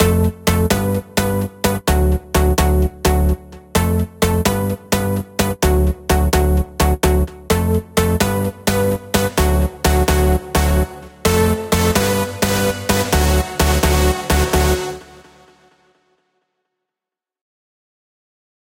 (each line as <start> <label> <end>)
0.0 Dirty electro house lead synth 15.8